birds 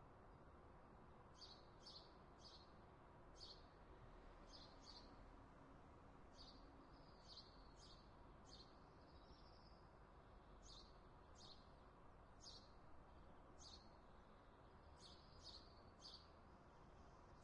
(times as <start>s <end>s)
12.4s 14.1s, 14.7s 16.4s